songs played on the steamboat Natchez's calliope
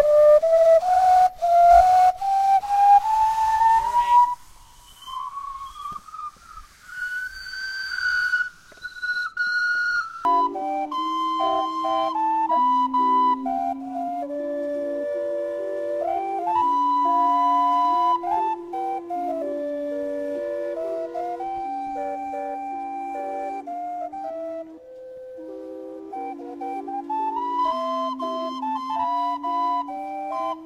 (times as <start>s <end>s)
7.0s 30.6s